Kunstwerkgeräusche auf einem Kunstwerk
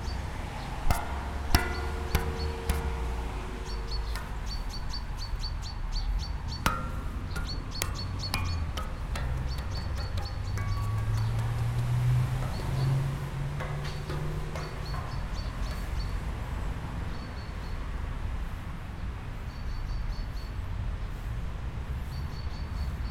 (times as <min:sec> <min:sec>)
0:00.9 0:05.3